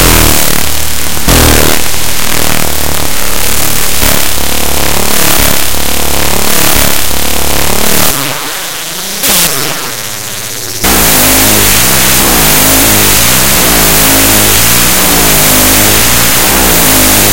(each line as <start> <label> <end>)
0.0 internal feedback 17.3